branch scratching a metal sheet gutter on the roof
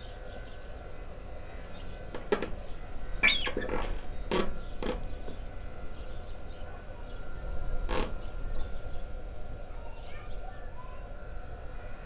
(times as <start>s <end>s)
2.0s 5.7s, 7.4s 8.3s